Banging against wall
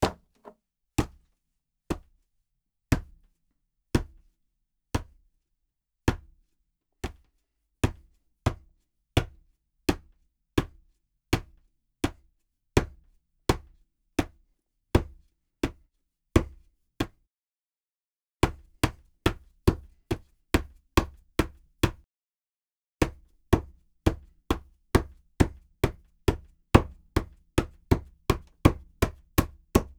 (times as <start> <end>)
0.0 0.5